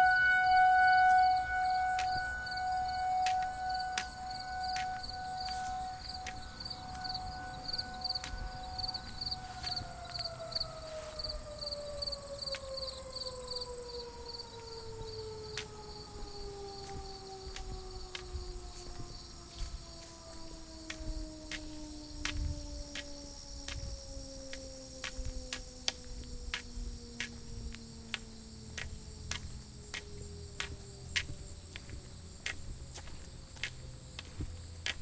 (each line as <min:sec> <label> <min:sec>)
0:00.0 footsteps 0:13.6
0:00.0 crickets 0:35.0
0:00.0 light wind 0:35.0
0:00.0 tornado siren test 0:35.0
0:00.0 traffic along brick streets 0:35.0
0:14.4 footsteps 0:35.0